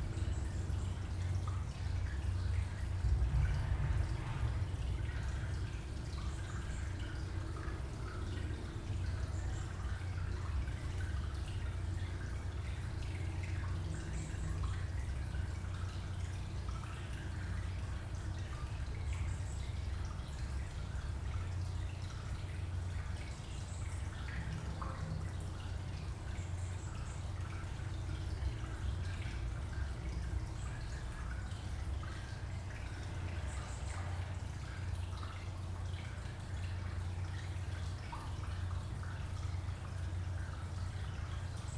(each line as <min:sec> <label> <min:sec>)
0:00.0 resonance concrete structure 0:19.0